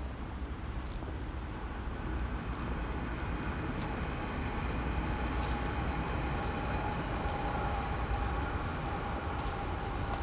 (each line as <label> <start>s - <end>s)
walk in wasteland 3.7s - 10.2s